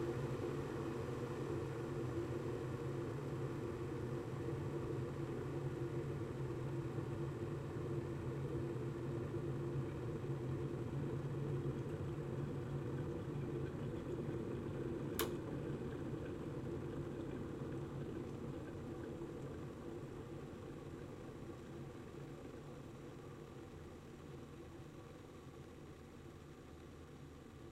0.0s boiling a kettle 27.7s

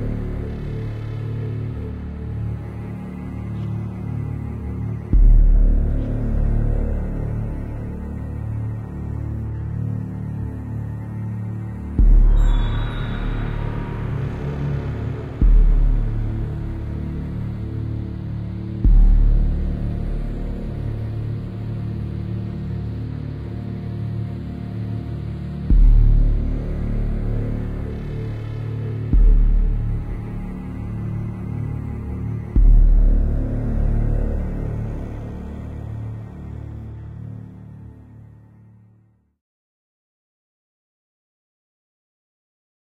0.0s Cello 38.9s
0.0s Bass 39.4s

